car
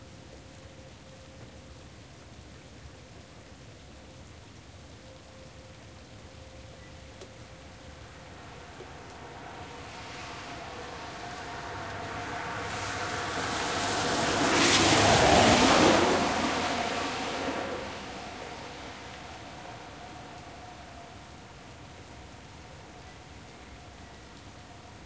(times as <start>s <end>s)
8.1s 21.7s